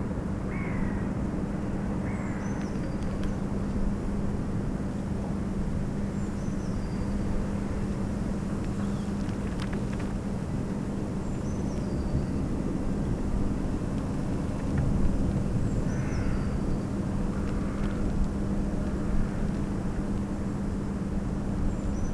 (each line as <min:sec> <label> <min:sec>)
0:00.5 crows 0:01.1